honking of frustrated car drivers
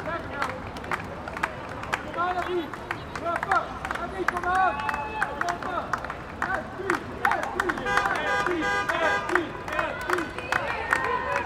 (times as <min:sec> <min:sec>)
0:07.8 0:09.6